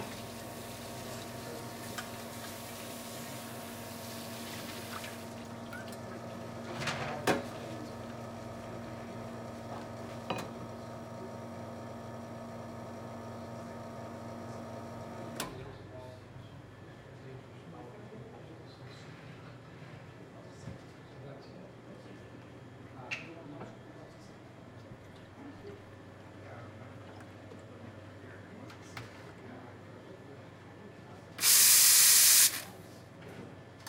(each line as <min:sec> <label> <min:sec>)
0:00.0 barista making a cappuccino 0:15.6
0:31.4 barista making a cappuccino 0:32.8